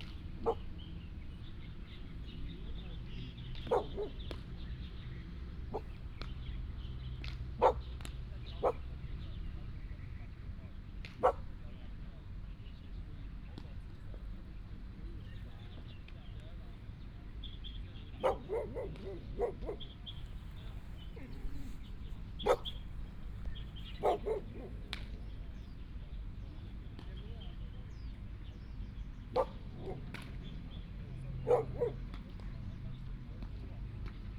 Birds sound 0.0 - 13.1
Dog sounds 3.5 - 4.4
Dog sounds 7.6 - 7.9
Dog sounds 8.6 - 8.9
Dog sounds 11.2 - 11.4
Birds sound 14.3 - 33.0
Dog sounds 18.2 - 25.2
Playing baseball 18.2 - 28.2
Dog sounds 29.4 - 30.1
Dog sounds 31.4 - 32.2

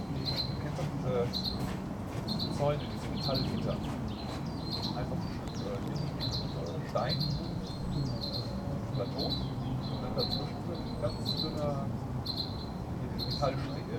background noise of city 0.0 - 13.9

